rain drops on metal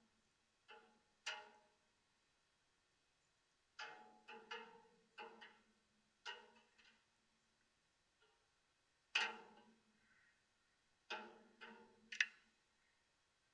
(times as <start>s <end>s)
3.7s 7.2s, 11.0s 12.4s